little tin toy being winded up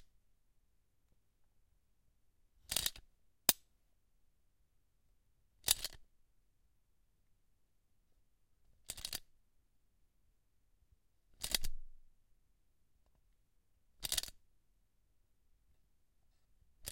2.7s 3.0s, 5.6s 6.0s, 8.9s 9.2s, 14.0s 14.3s

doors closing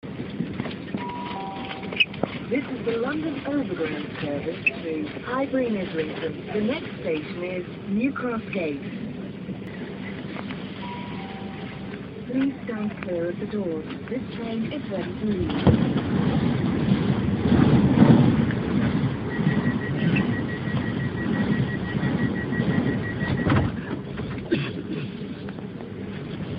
18.8s 24.5s

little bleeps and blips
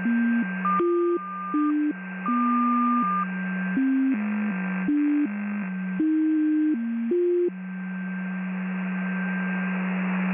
0.0s 3.2s

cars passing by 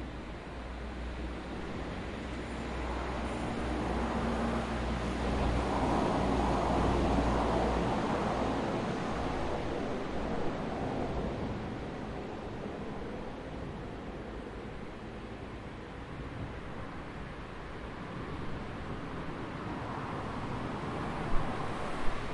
1.0s 11.9s, 17.2s 22.3s

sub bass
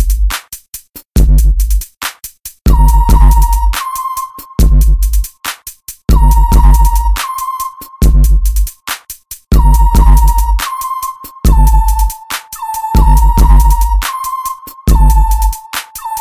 4.6s 5.2s, 6.1s 7.2s, 8.0s 8.7s, 9.6s 10.6s, 13.0s 14.0s

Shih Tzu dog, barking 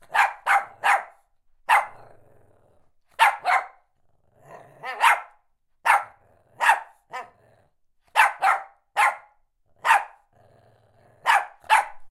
0.0s 2.0s, 3.1s 3.9s, 4.8s 7.4s, 8.0s 10.3s, 11.2s 12.1s

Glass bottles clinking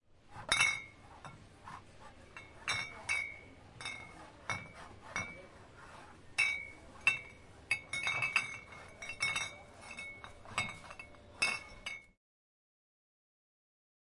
0.4s 1.4s, 2.3s 5.6s, 6.4s 12.2s

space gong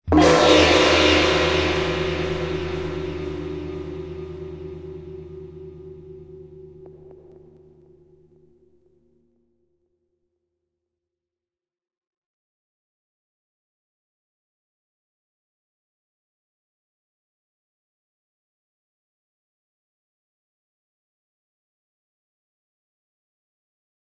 0.1s 8.4s

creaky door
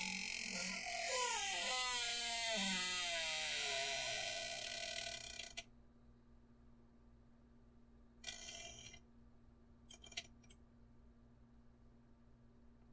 0.0s 5.7s, 8.2s 9.0s

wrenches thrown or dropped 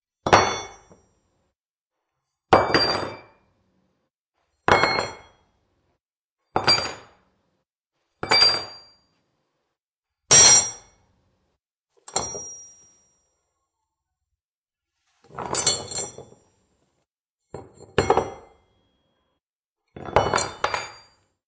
15.2s 16.4s

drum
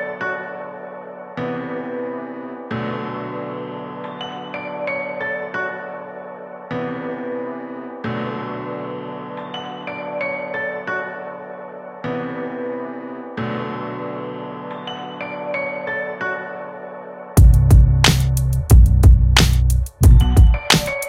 17.4s 21.0s

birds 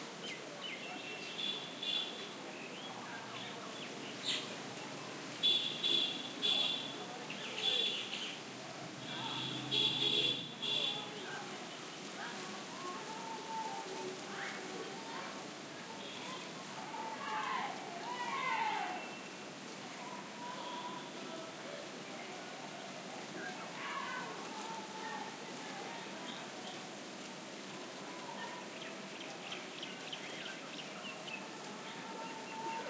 0.1s 4.6s, 28.2s 32.8s

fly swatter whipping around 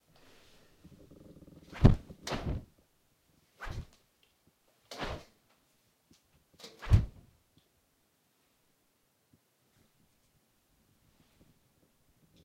1.7s 2.6s, 3.6s 4.0s, 4.9s 5.3s

